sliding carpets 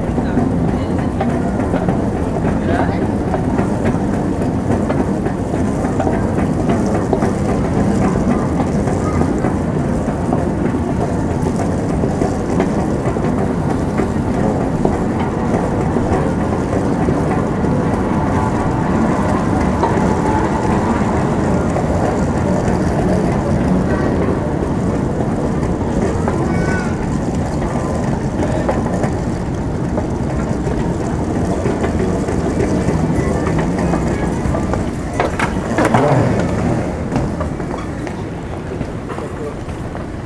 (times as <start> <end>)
24.6 40.2